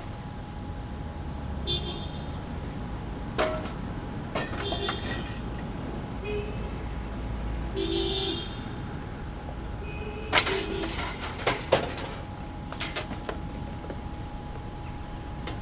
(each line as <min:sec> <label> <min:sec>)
0:03.3 man collecting scap metal 0:05.9
0:10.3 man collecting scap metal 0:13.7